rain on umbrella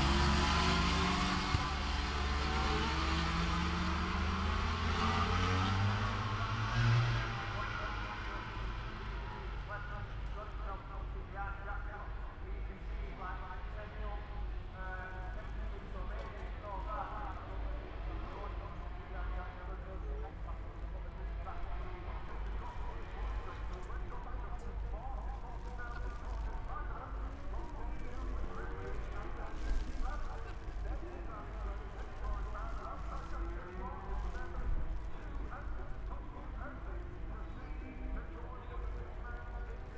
25.2s 36.1s

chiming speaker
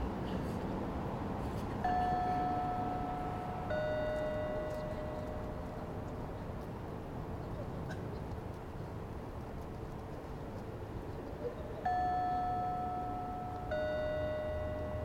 1.8s 6.0s, 11.9s 15.0s

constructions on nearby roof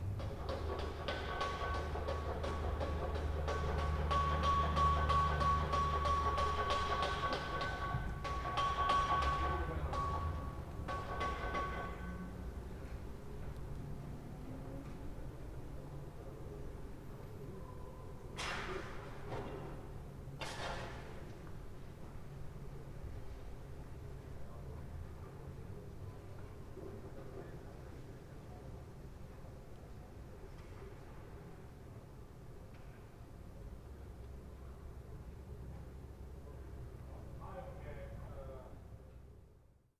0.0s 13.8s, 18.2s 23.5s

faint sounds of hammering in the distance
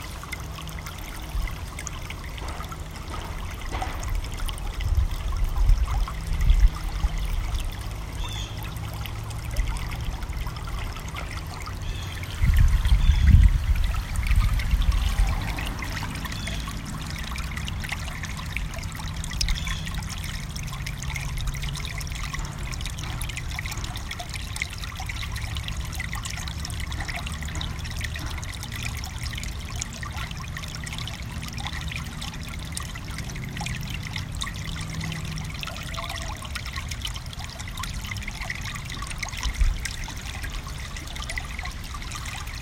1.9s 4.4s

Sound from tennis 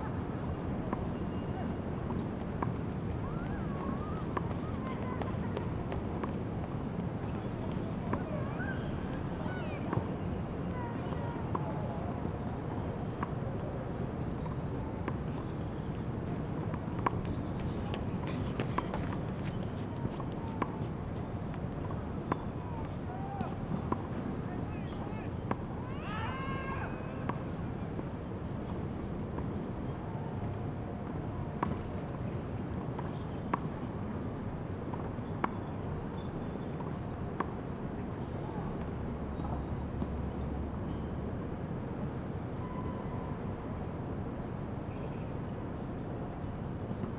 15.8s 20.7s

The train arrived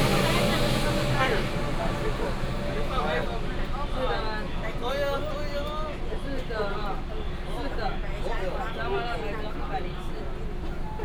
0.0s 6.2s

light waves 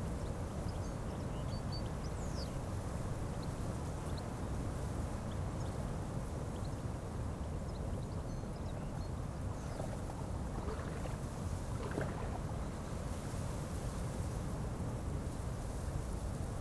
9.4s 13.9s

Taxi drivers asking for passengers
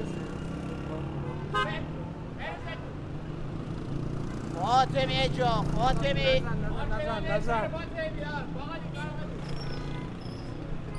4.4s 10.9s

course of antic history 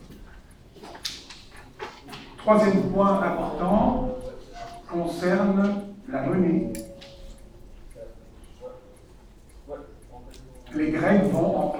2.5s 11.7s

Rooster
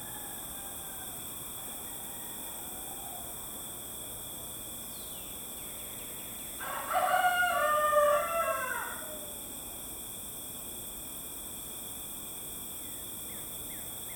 0.0s 3.4s, 6.6s 9.4s

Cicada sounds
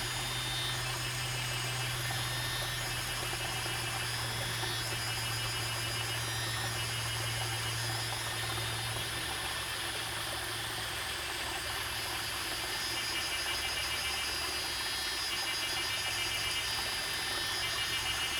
0.0s 9.0s

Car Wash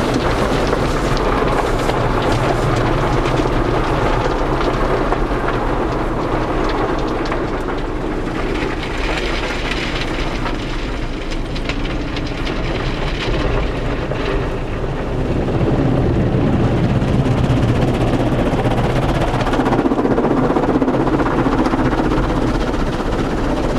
0.0s 6.5s

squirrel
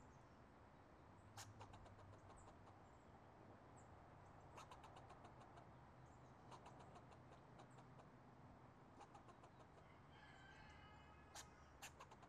4.6s 5.6s, 11.3s 12.2s

